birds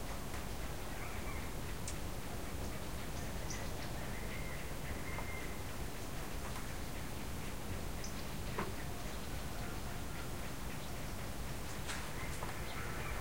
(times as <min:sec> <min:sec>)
0:02.7 0:13.2